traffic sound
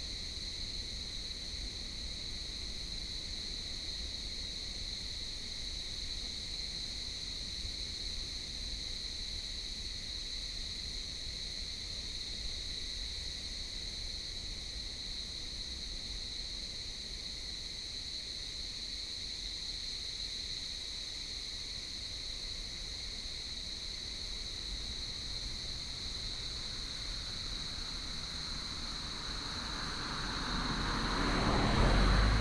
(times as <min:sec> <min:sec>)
0:24.4 0:32.4